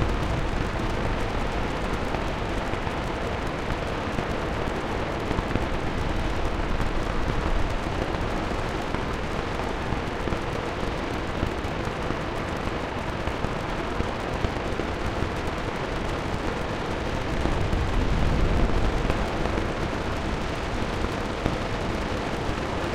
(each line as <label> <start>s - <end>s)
rain 0.0s - 22.9s
wind 0.0s - 22.9s